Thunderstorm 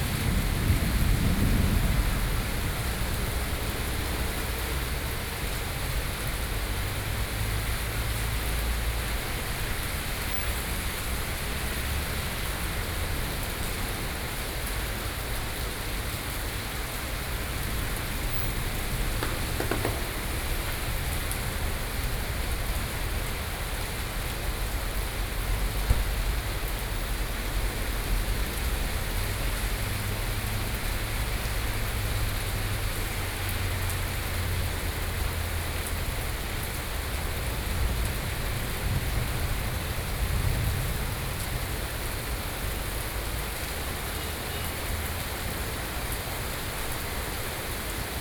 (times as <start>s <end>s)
0.0s 5.0s, 17.5s 23.4s, 37.2s 43.0s